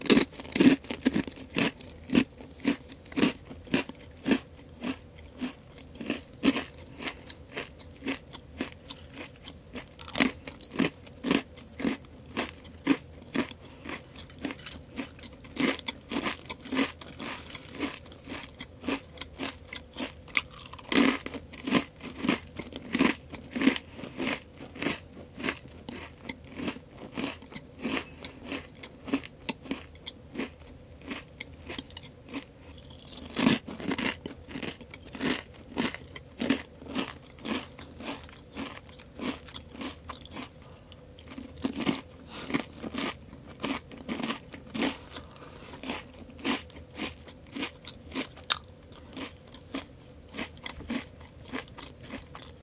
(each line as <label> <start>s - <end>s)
Eating Chips 0.0s - 52.6s